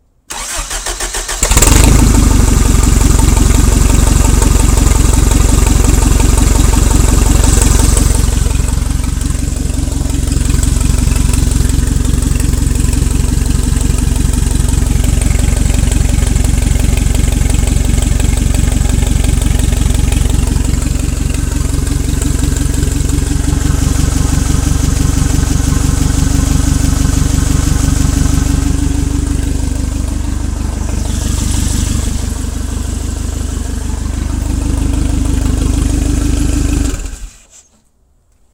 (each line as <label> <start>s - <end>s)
forklift running for a short time 18.8s - 37.4s